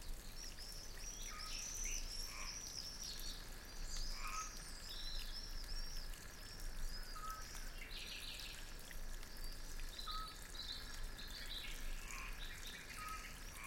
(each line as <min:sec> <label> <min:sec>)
0:00.0 Light running water 0:13.6
0:01.2 frogs 0:03.0
0:04.0 frogs 0:07.8
0:09.5 frogs 0:13.6